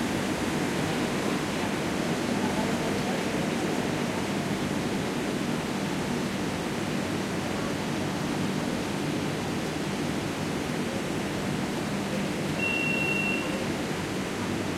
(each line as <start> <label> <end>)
0.0 train arrives 14.7
8.6 train leaves 14.7